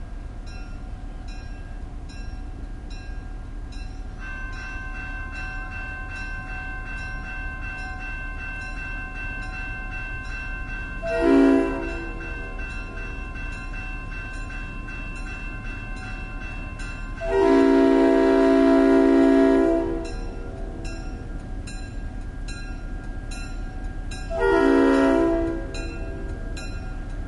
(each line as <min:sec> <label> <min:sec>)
0:00.0 diesel locomotive 0:27.2
0:00.0 train crossing bell 0:27.2
0:11.0 train whistle 0:12.6
0:17.2 train whistle 0:21.0
0:24.3 train whistle 0:26.5